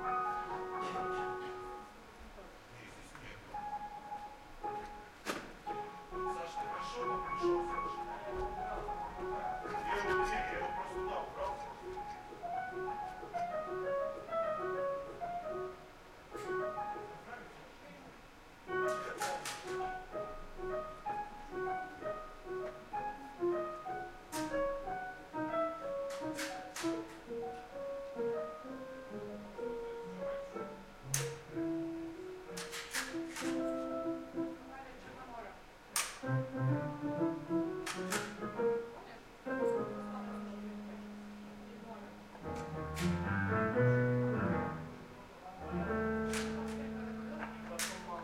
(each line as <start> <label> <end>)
0.0 musicians rehearsing 48.2
5.8 stage workers talking 12.5
45.2 stage workers talking 48.2